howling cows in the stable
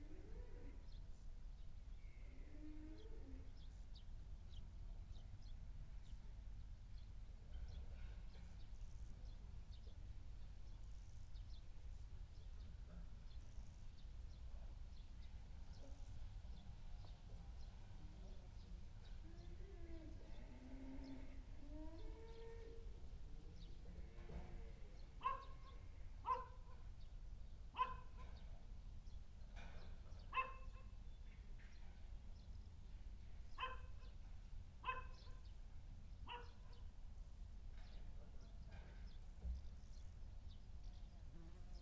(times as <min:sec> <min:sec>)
0:00.0 0:01.1, 0:01.8 0:03.8, 0:17.3 0:27.0